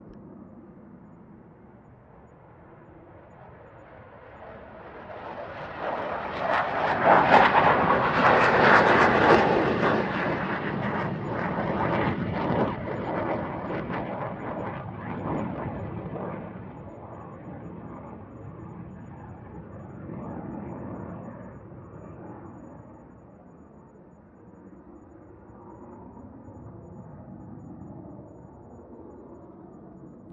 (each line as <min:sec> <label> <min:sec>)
0:00.0 F16 fighter jet taking off from runway 0:30.3